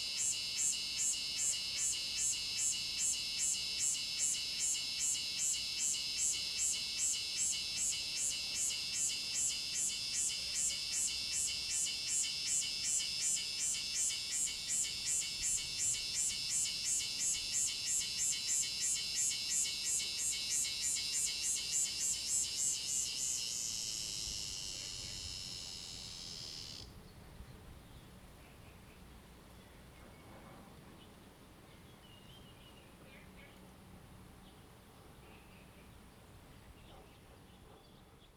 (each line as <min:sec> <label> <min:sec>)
0:00.0 Cicadas sound 0:26.9